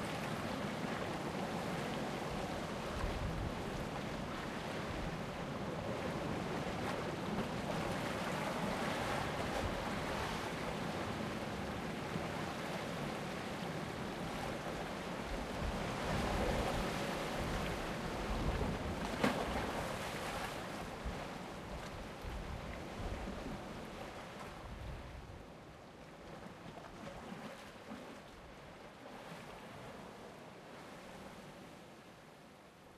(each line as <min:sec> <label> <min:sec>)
0:00.0 waves crashing on the rocks 0:25.0
0:00.0 boat 0:32.9
0:00.0 wind 0:32.9